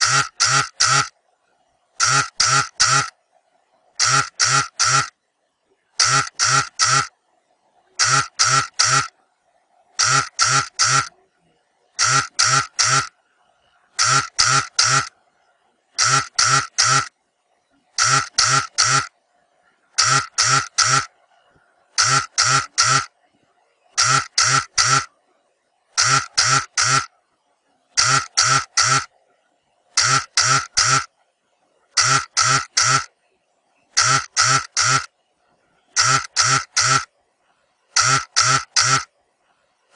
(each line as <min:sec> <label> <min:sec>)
0:00.0 cell-phone-vibrating 0:01.2
0:02.0 cell-phone-vibrating 0:03.2
0:04.0 cell-phone-vibrating 0:05.2
0:06.0 cell-phone-vibrating 0:07.2
0:08.0 cell-phone-vibrating 0:09.2
0:10.0 cell-phone-vibrating 0:11.2
0:11.9 cell-phone-vibrating 0:13.2
0:13.9 cell-phone-vibrating 0:15.2
0:15.9 cell-phone-vibrating 0:17.2
0:17.9 cell-phone-vibrating 0:19.2
0:19.9 cell-phone-vibrating 0:21.2
0:21.9 cell-phone-vibrating 0:23.2
0:23.9 cell-phone-vibrating 0:25.2
0:25.9 cell-phone-vibrating 0:27.1
0:27.9 cell-phone-vibrating 0:29.2
0:29.9 cell-phone-vibrating 0:31.1
0:31.9 cell-phone-vibrating 0:33.2
0:33.9 cell-phone-vibrating 0:35.2
0:36.0 cell-phone-vibrating 0:37.1
0:37.9 cell-phone-vibrating 0:39.1